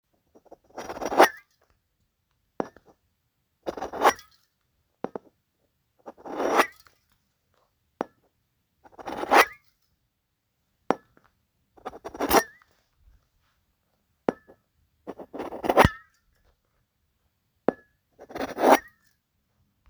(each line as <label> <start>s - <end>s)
scraping the bottom of an aluminum deodorant can 11.8s - 12.6s
scraping the bottom of an aluminum deodorant can 15.1s - 16.0s
scraping the bottom of an aluminum deodorant can 18.2s - 18.9s